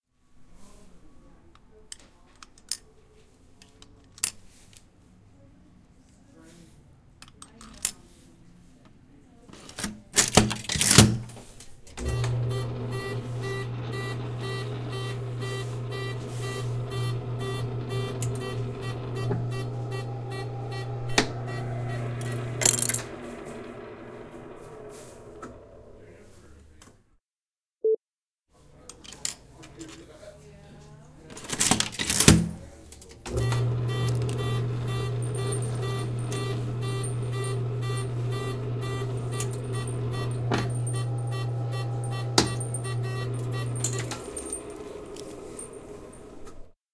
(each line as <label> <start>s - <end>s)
cogs turn 9.6s - 26.2s
putting change in the machine 9.6s - 26.9s
Penny flattening machine 12.0s - 26.2s
putting change in the machine 28.9s - 30.1s
cogs turn 31.3s - 46.7s
putting change in the machine 31.3s - 46.7s
Penny flattening machine 31.4s - 32.6s
Penny flattening machine 33.3s - 46.7s